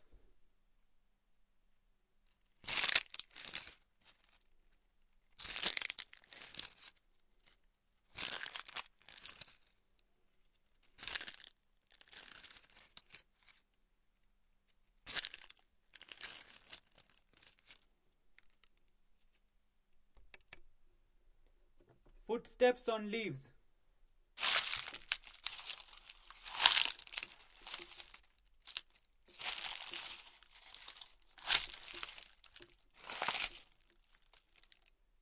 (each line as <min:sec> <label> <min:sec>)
0:24.4 Footsteps on dry leaves 0:34.7